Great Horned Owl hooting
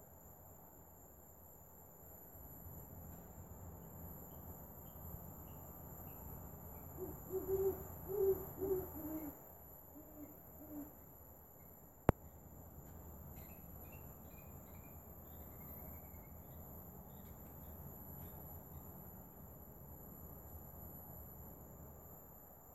0:06.8 0:11.1

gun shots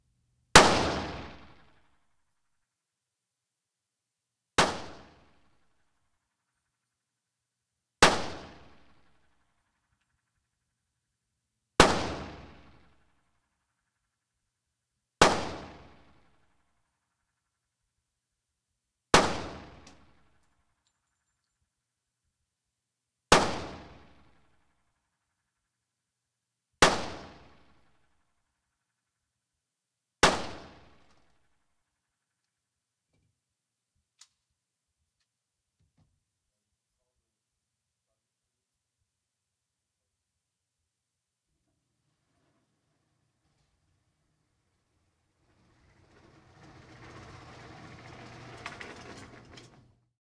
0:00.6 0:01.6, 0:11.8 0:12.6

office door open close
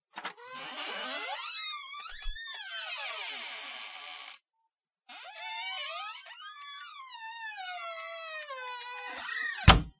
0:09.6 0:09.9

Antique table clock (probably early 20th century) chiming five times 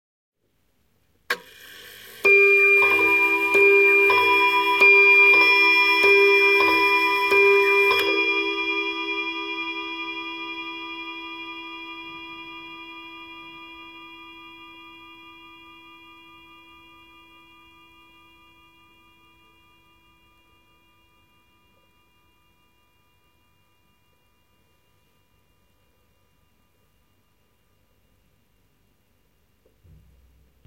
0:01.4 0:14.7

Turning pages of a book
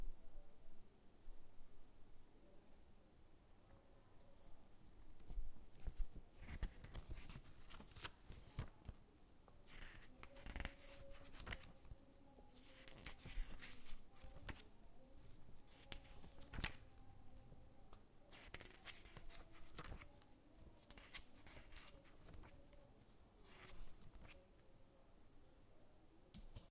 0:05.0 0:09.0, 0:09.6 0:17.0, 0:17.9 0:24.4

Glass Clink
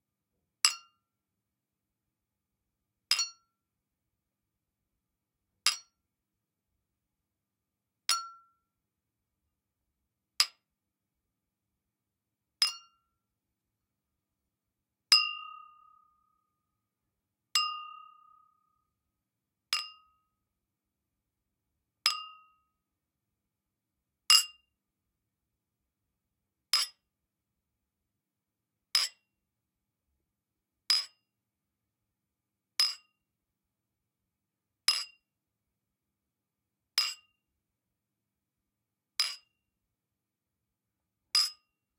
0:15.1 0:16.4, 0:17.6 0:18.8

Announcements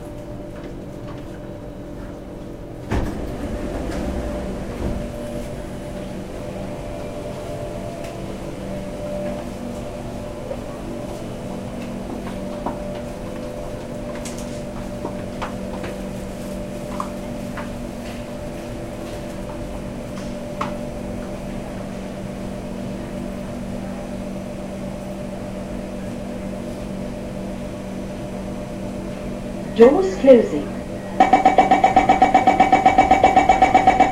0:29.8 0:34.1

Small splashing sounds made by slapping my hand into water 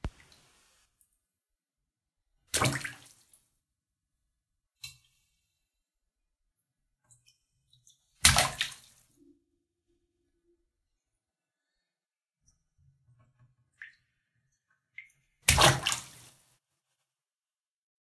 0:02.5 0:03.5, 0:07.1 0:09.2, 0:13.7 0:14.1, 0:14.9 0:16.4

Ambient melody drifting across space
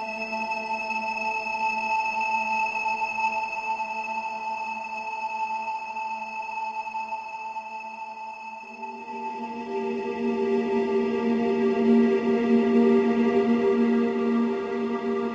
0:08.7 0:15.3

